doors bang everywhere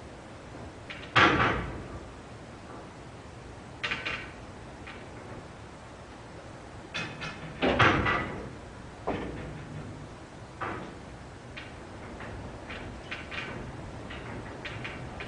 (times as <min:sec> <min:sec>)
0:07.2 0:11.0